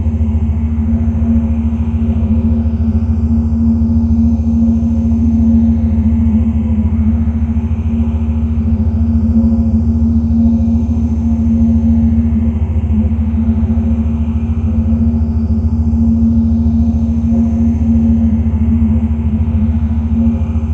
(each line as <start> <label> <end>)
0.0 drone like background 20.7